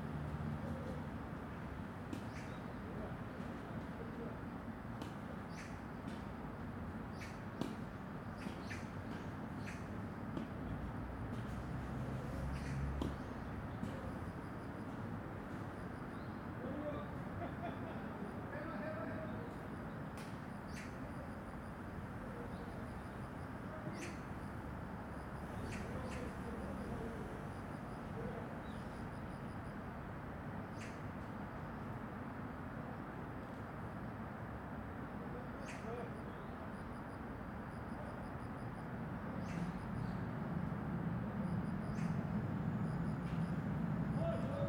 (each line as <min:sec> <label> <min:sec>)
0:04.9 People Playing Tennis 0:06.4
0:10.3 People Playing Tennis 0:14.9
0:11.9 Cricket 0:31.9
0:35.2 Cricket 0:44.6